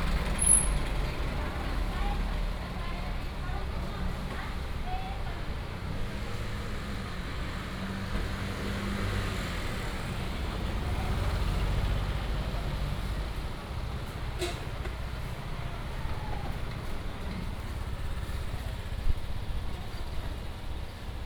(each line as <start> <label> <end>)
0.0 traffic sound 21.2